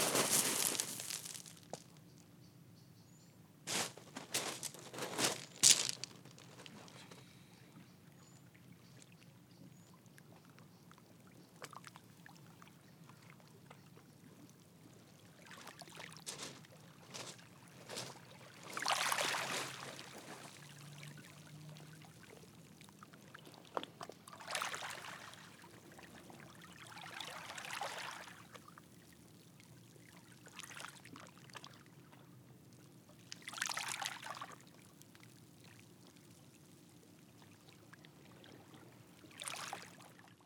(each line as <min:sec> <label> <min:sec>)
0:00.0 walking on beach 0:02.0
0:03.7 walking on beach 0:07.3
0:15.5 walking on beach 0:21.0